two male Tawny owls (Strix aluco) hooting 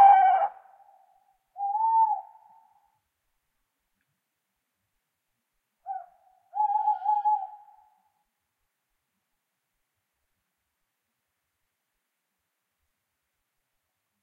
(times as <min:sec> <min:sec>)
0:00.0 0:03.0, 0:05.8 0:08.2